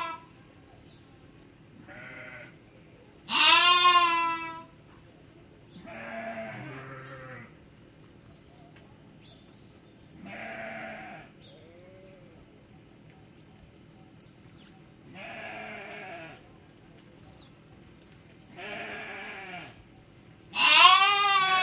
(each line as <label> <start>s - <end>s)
bleating in a number of tones 0.0s - 0.2s
bleating in a number of tones 1.9s - 2.5s
bleating in a number of tones 3.3s - 4.7s
bleating in a number of tones 5.8s - 7.5s
bleating in a number of tones 10.2s - 11.3s
bleating in a number of tones 15.1s - 16.4s
bleating in a number of tones 18.5s - 19.8s
bleating in a number of tones 20.5s - 21.6s